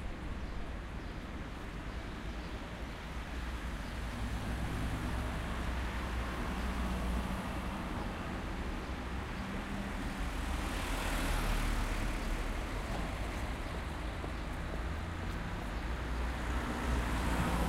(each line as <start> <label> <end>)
0.0 Traffic in a traffic circle roundabout 17.6